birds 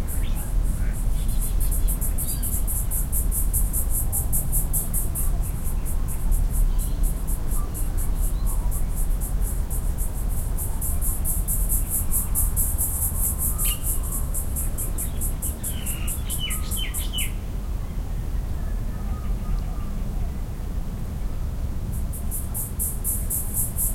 13.3s 17.4s

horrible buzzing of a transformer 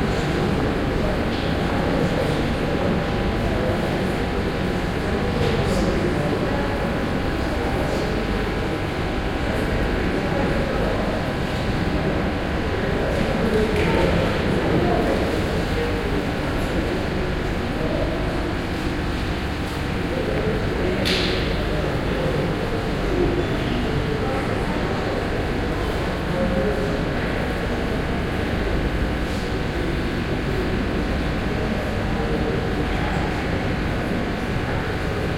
23.8s 35.3s

